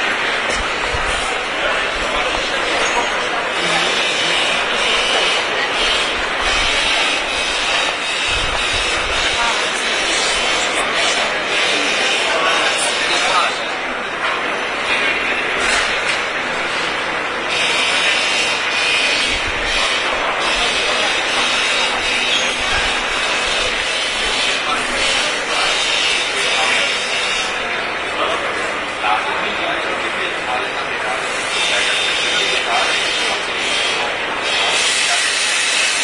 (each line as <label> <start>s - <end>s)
crowd 0.0s - 36.0s
masonry machine 0.0s - 36.0s